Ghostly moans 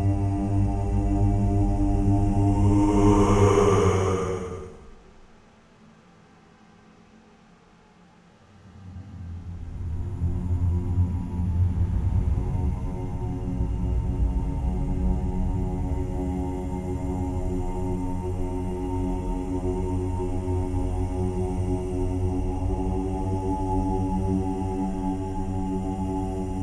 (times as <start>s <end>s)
1.6s 5.2s